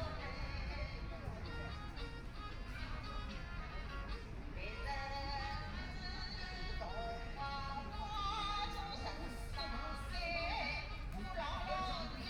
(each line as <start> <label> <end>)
4.6 woman singing 12.2